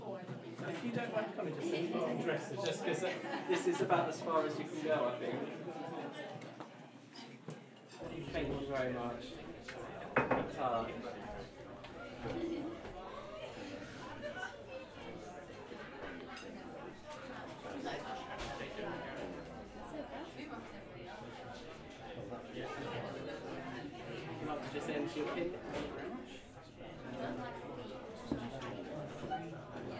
0.0s People laughing and chatting 29.9s

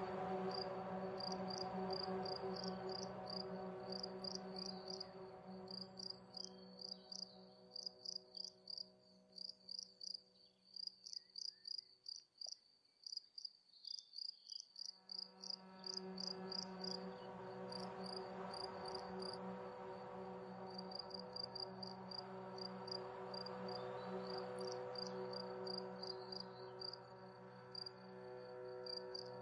0.0s relaxing music 10.6s
9.4s crickets 17.0s
15.0s relaxing music 29.4s

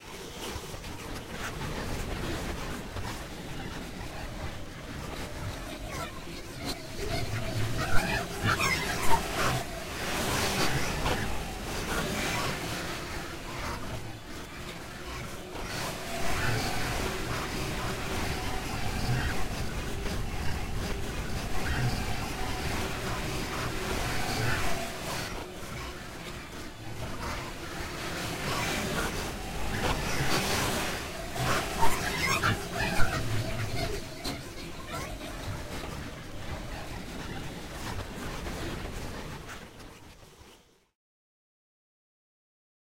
5.3s Processed vocals 37.6s

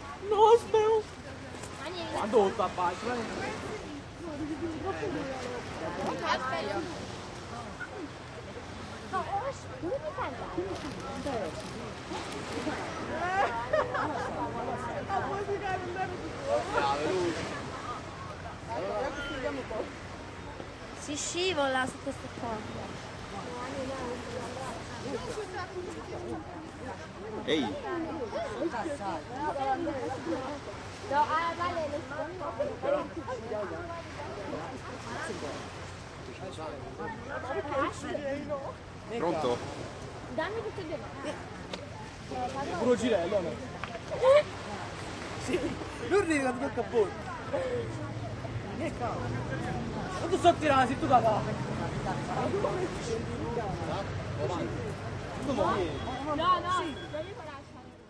0.0s small waves 58.0s
0.0s traffic 58.0s

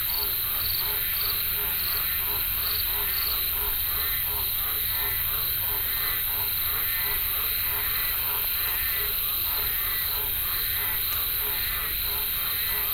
0.0s cicadas 12.9s
0.0s crickets 12.9s
0.0s frogs 12.9s

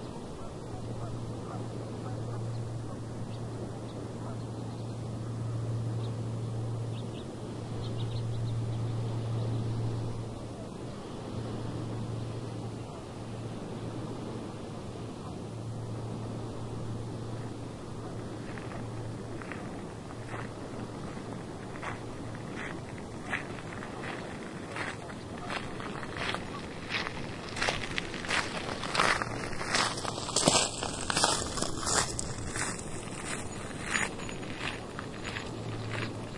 15.3s walking on a gravel path 36.3s

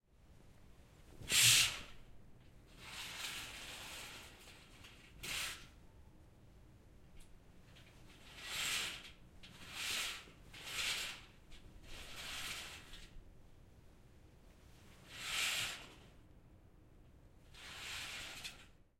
2.7s Opening and closing curtains 5.7s
8.2s Opening and closing curtains 13.2s
15.0s Opening and closing curtains 16.1s
17.5s Opening and closing curtains 18.8s

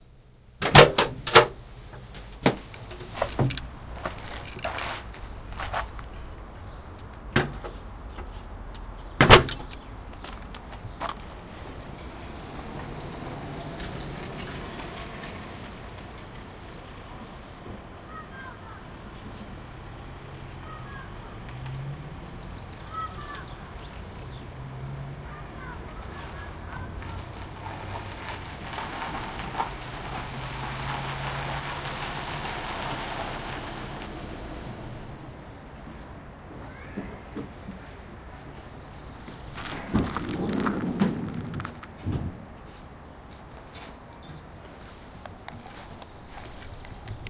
0.6s car door 4.9s
0.6s house door opens 1.6s
0.6s house door closes 1.6s
1.3s car arrives 47.2s
7.3s car door 8.2s
9.2s house door closes 9.7s
9.2s car door 9.8s
9.2s house door opens 9.8s

